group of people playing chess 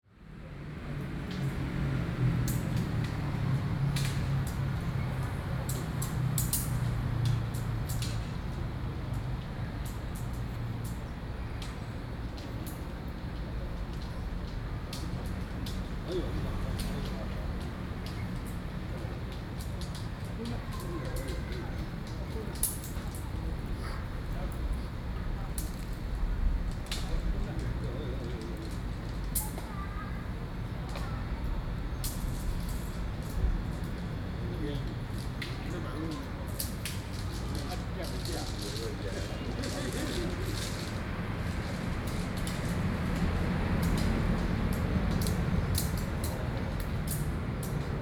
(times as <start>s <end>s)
34.5s 43.4s